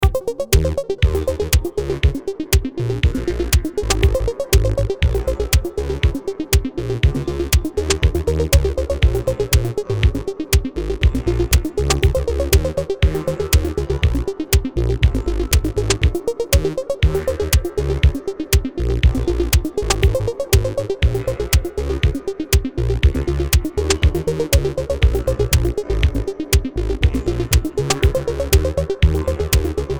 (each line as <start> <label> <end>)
0.0 Synths 29.9
0.0 bass 29.9
0.0 beat 29.9